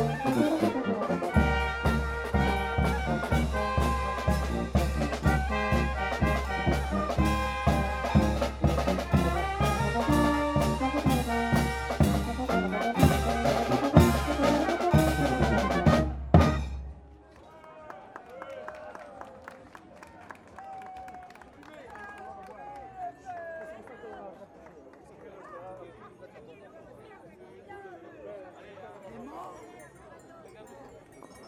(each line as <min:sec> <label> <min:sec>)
0:00.0 fanfare in playing in the street 0:24.6